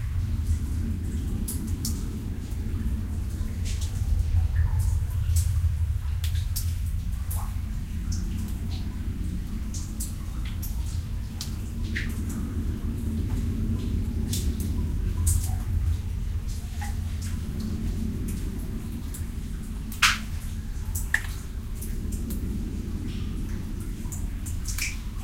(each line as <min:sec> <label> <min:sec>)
0:00.0 echos of running and dripping water 0:25.2
0:00.0 low rumble 0:25.2
0:00.0 wind 0:25.2